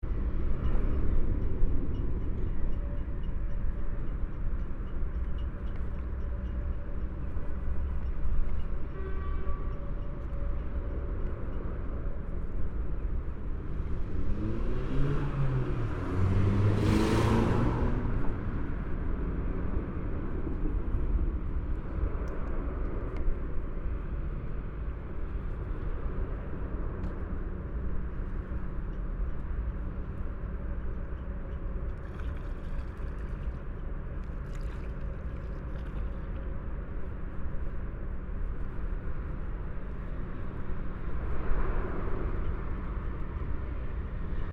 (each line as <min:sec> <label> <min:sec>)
0:00.0 cars 0:44.5